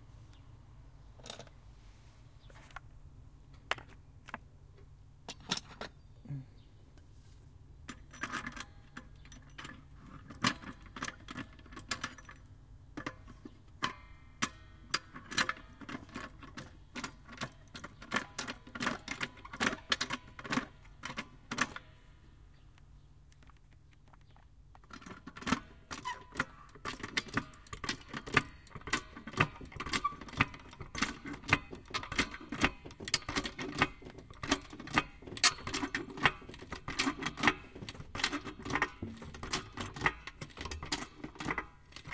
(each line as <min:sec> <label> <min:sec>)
0:25.4 ratchet 0:42.1